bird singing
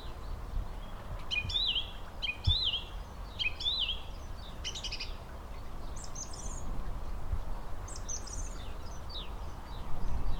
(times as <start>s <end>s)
0.8s 5.2s